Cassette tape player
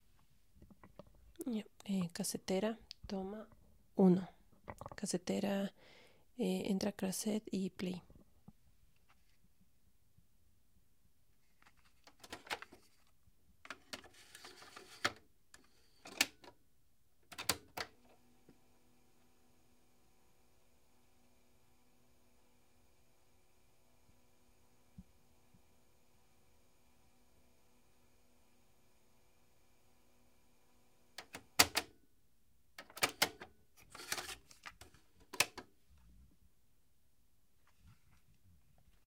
0:12.0 0:13.0, 0:13.7 0:16.6, 0:17.2 0:30.1, 0:31.0 0:32.0, 0:32.8 0:35.7

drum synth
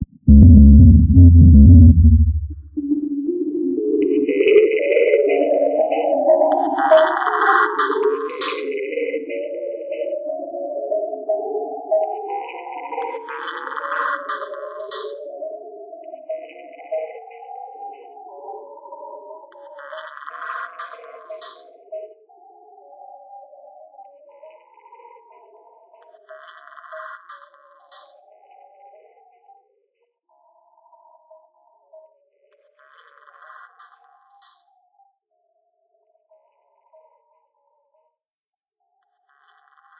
0:00.0 0:03.0

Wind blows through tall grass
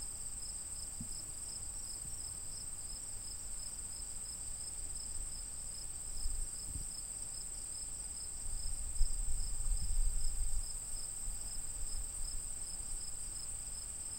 0:04.4 0:14.1

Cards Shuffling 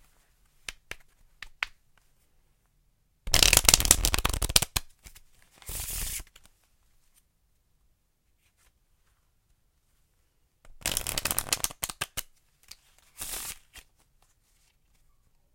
0:03.3 0:06.6, 0:10.8 0:15.0

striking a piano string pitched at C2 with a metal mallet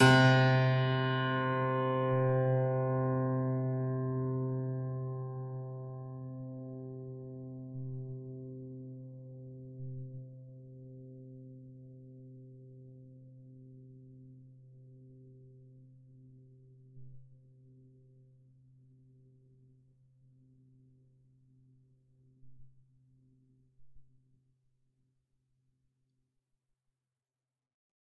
0:00.0 0:03.6

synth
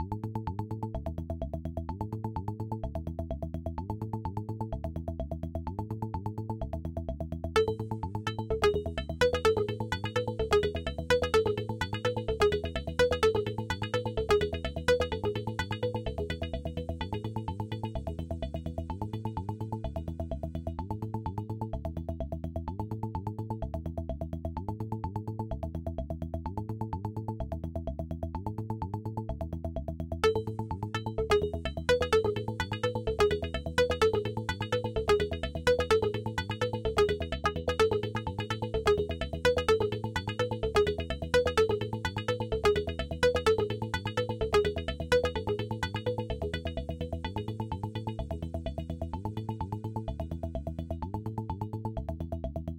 0:07.6 0:18.2, 0:30.2 0:49.8

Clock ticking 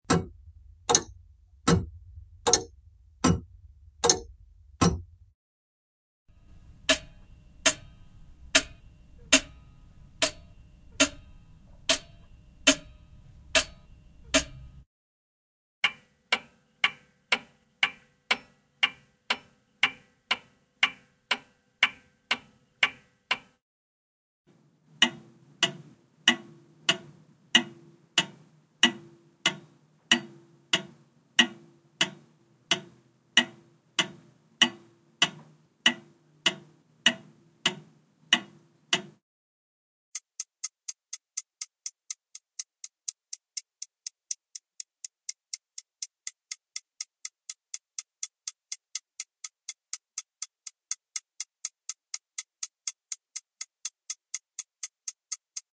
0:00.0 0:05.2, 0:06.4 0:14.8, 0:24.9 0:39.2, 0:40.1 0:55.7

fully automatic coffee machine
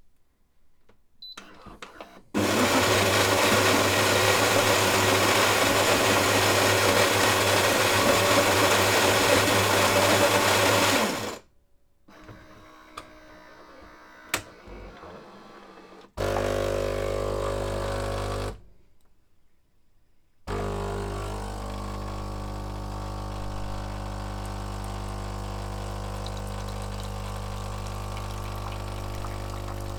0:02.4 0:11.4, 0:16.2 0:18.6, 0:20.5 0:29.9

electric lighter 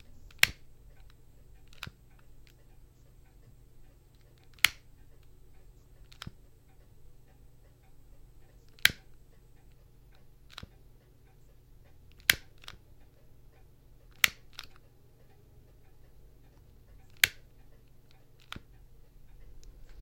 0:00.0 0:00.7, 0:04.1 0:05.3, 0:08.7 0:09.2, 0:12.1 0:12.8, 0:14.1 0:14.8, 0:17.0 0:17.5

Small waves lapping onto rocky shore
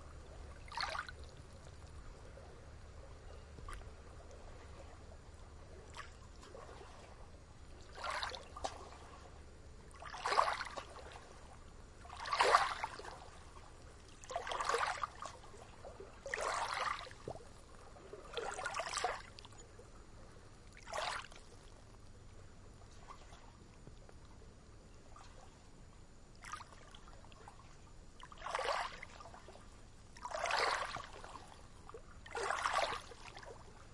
0:12.0 0:13.4, 0:14.2 0:17.3, 0:30.2 0:31.4

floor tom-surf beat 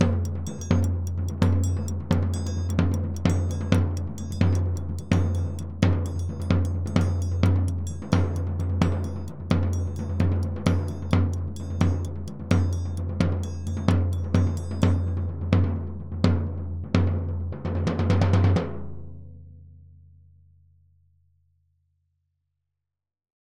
0:00.0 0:17.2

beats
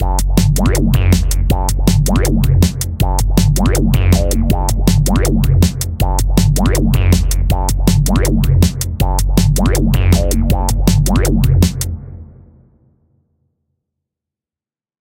0:00.0 0:12.0

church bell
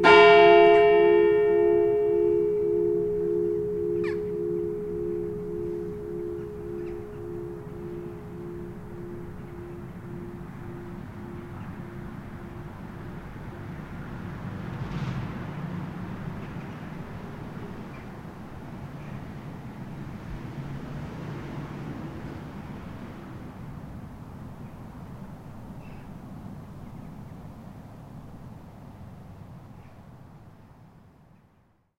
0:00.0 0:24.0

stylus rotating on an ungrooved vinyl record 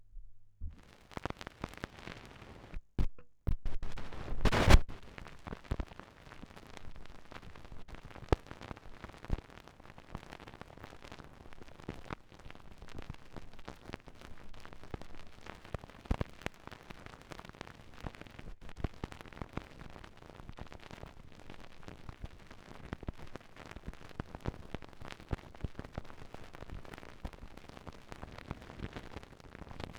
0:03.8 0:04.9

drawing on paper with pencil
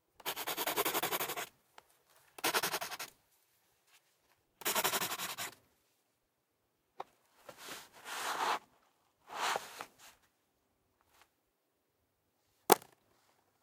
0:00.2 0:01.5, 0:02.4 0:03.1, 0:04.6 0:05.6

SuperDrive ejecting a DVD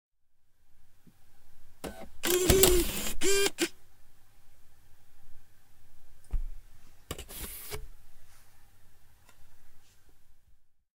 0:01.8 0:03.7

